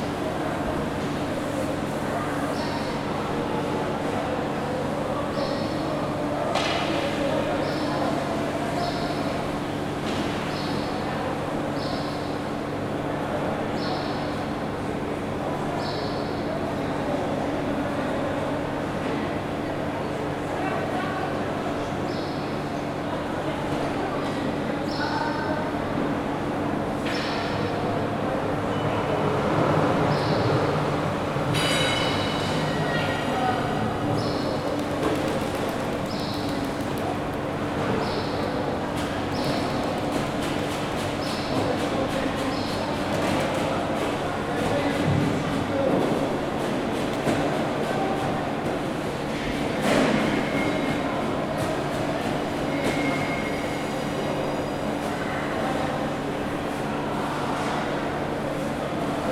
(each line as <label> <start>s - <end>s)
people 0.0s - 59.3s